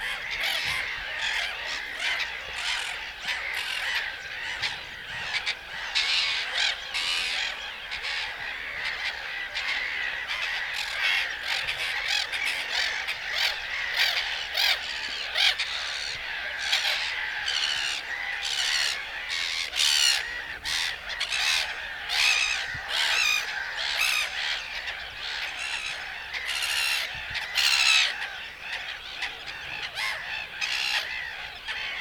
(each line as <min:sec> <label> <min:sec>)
0:00.0 shouting birds 0:32.0